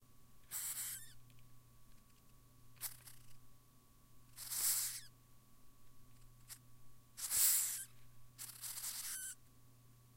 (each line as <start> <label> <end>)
0.5 Madagascar Hissing Cockroach hissing 1.2
2.8 Madagascar Hissing Cockroach hissing 3.3
4.4 Madagascar Hissing Cockroach hissing 5.1
7.2 Madagascar Hissing Cockroach hissing 9.4